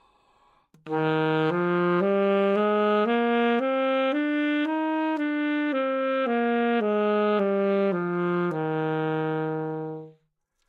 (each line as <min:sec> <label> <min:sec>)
0:00.8 Sax Alto 0:10.3